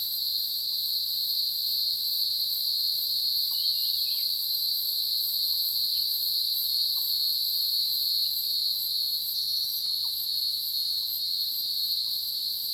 0.0s Cicadas sound 12.7s

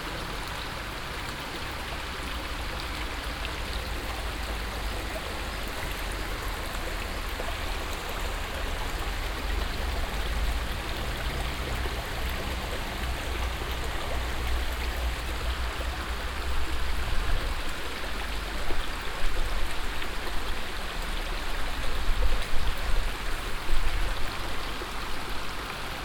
0.0s floating low water 26.0s

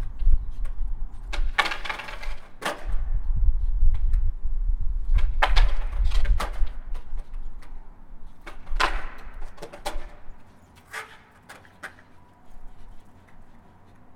0.0s Skating 4.4s
5.0s Skating 14.1s

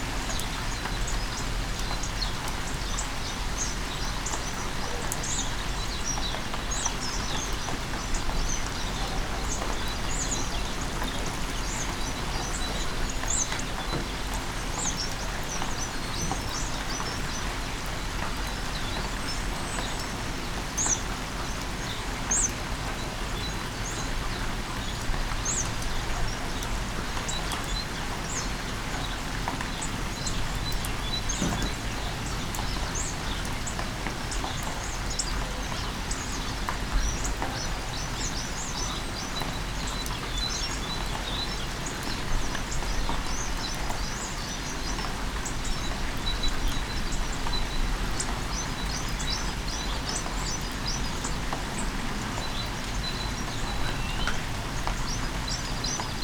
0.0s Rainy day 56.2s
24.8s bird's singing 56.2s

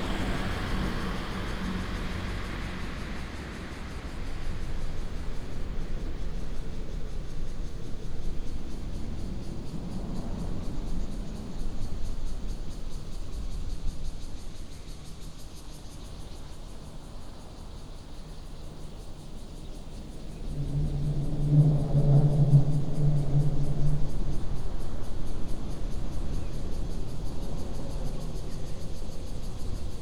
0.0s Traffic sound 15.2s
0.0s Cicadas 30.0s

